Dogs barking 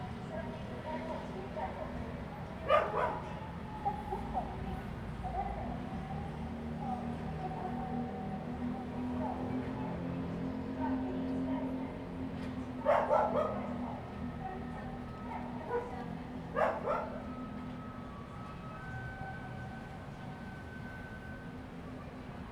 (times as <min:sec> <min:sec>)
0:12.9 0:13.6, 0:16.6 0:17.1